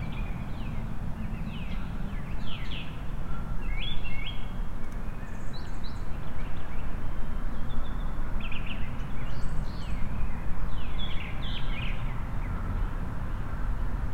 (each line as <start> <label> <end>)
0.0 Birdsong 14.0
0.0 Traffic sounds 14.1